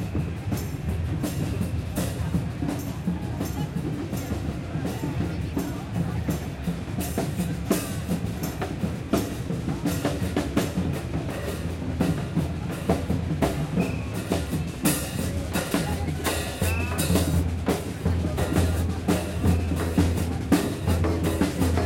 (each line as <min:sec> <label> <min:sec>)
0:00.0 crowd 0:21.8